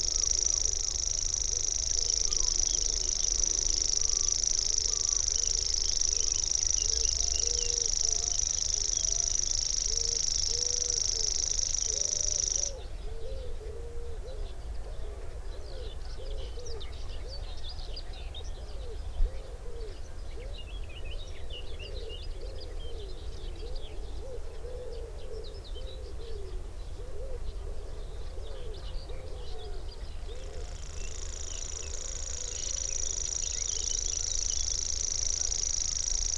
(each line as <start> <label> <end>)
0.0 grasshopper warbler 12.8
0.0 background noise 36.3
30.1 grasshopper warbler 36.3